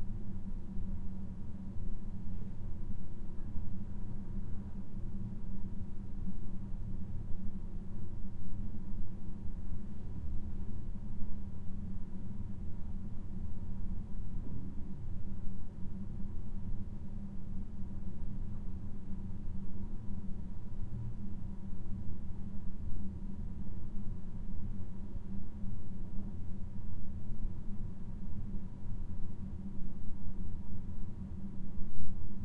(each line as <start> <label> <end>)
0.0 slow ventilation noise 32.4